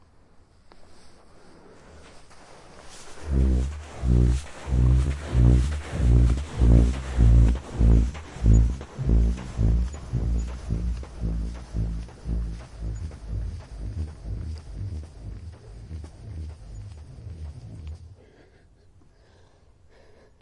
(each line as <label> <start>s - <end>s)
dune climbing squeaks 0.8s - 18.4s